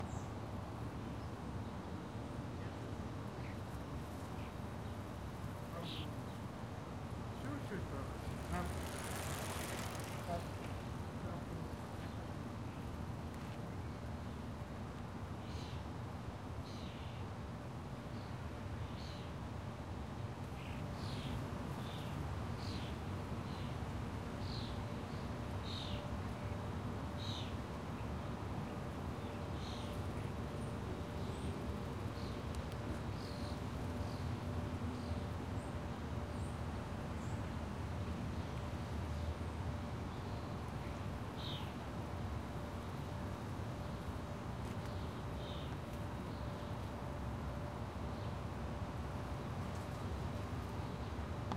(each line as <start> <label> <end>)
7.2 Bicycle Passes 13.5